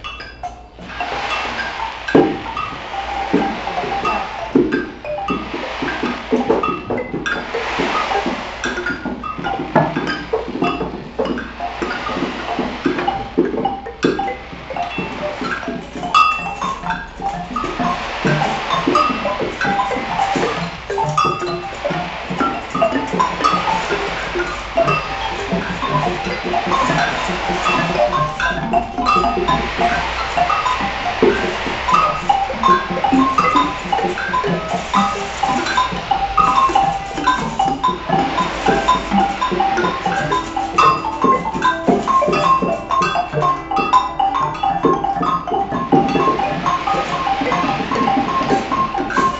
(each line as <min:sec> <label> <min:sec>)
0:00.0 free improvisation 0:49.3